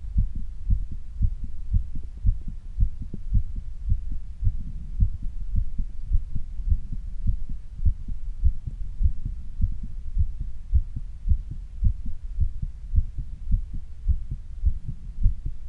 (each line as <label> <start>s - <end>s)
heartbeat 0.0s - 15.6s